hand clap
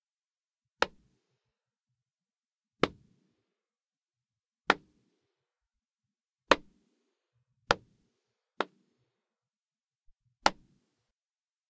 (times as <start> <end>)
4.7 5.0, 6.5 6.8, 8.6 8.9, 10.4 10.8